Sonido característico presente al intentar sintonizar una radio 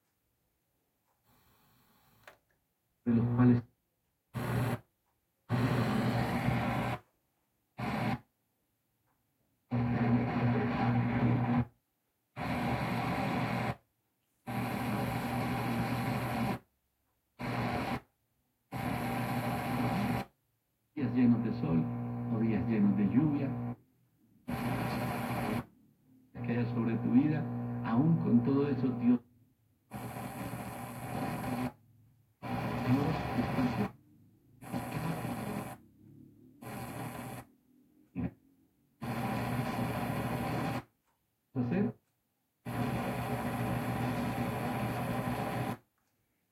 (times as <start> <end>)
3.1 3.6, 21.0 23.7, 24.5 25.6, 26.4 29.2, 32.6 34.0